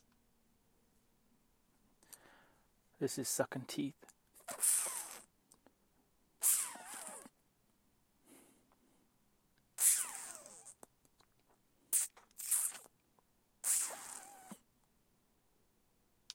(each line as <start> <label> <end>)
4.4 sucking teeth 5.3
6.4 sucking teeth 7.3
9.8 sucking teeth 12.9
13.6 sucking teeth 14.6